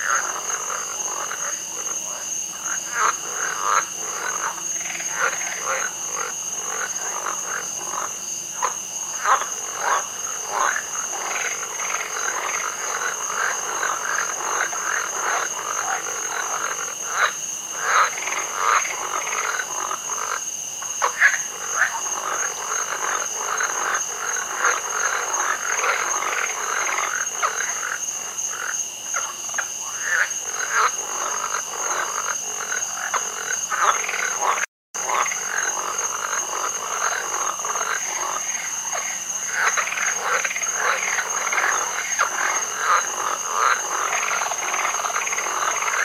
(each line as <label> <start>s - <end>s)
Frogs 0.0s - 46.0s
creek 0.0s - 46.0s
insects 0.0s - 46.0s
toads 0.0s - 46.0s